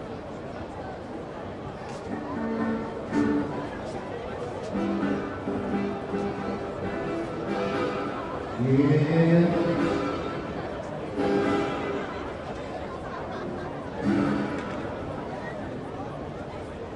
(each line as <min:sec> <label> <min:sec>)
0:00.0 people 0:16.9